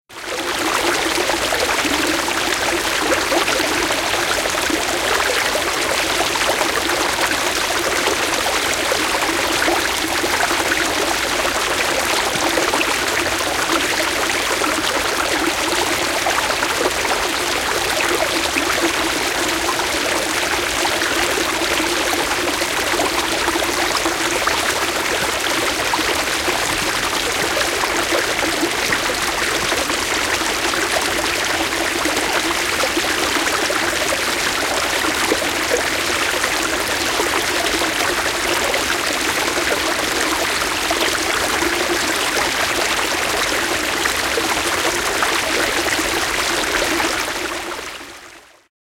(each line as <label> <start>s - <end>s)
Bigger brook, stream, gurgling and babbling brightly 0.1s - 48.7s